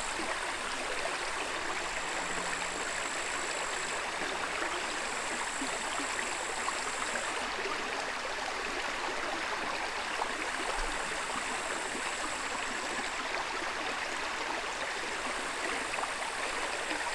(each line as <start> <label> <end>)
0.0 Small, undisturbed, river 17.1